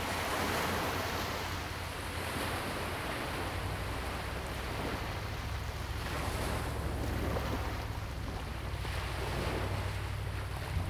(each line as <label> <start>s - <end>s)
waves 0.0s - 10.8s